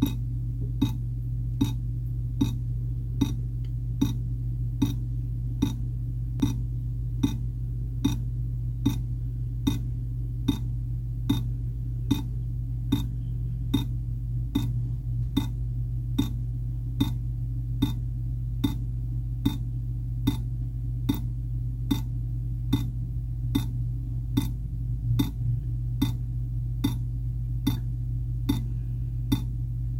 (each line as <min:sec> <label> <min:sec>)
0:00.0 Water dripping on a ceramic plate 0:00.2
0:00.8 Water dripping on a ceramic plate 0:01.0
0:01.6 Water dripping on a ceramic plate 0:01.8
0:02.4 Water dripping on a ceramic plate 0:02.6
0:03.2 Water dripping on a ceramic plate 0:03.4
0:04.0 Water dripping on a ceramic plate 0:05.0
0:05.6 Water dripping on a ceramic plate 0:06.6
0:07.2 Water dripping on a ceramic plate 0:09.9
0:10.5 Water dripping on a ceramic plate 0:10.7
0:11.3 Water dripping on a ceramic plate 0:14.0
0:14.6 Water dripping on a ceramic plate 0:14.8
0:16.2 Water dripping on a ceramic plate 0:16.4
0:17.0 Water dripping on a ceramic plate 0:17.2
0:17.8 Water dripping on a ceramic plate 0:18.0
0:18.6 Water dripping on a ceramic plate 0:18.8
0:19.4 Water dripping on a ceramic plate 0:19.6
0:20.2 Water dripping on a ceramic plate 0:20.5
0:21.1 Water dripping on a ceramic plate 0:21.3
0:21.9 Water dripping on a ceramic plate 0:22.1
0:22.7 Water dripping on a ceramic plate 0:22.9
0:23.5 Water dripping on a ceramic plate 0:23.8
0:24.4 Water dripping on a ceramic plate 0:24.6
0:26.0 Water dripping on a ceramic plate 0:26.2
0:26.8 Water dripping on a ceramic plate 0:27.9
0:29.3 Water dripping on a ceramic plate 0:29.5